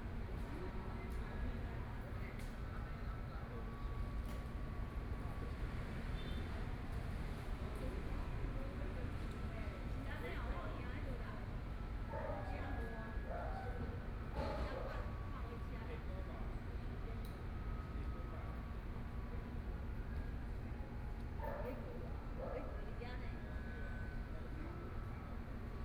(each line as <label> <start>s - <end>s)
Women chatting voices 7.7s - 19.6s
Women chatting voices 21.4s - 25.1s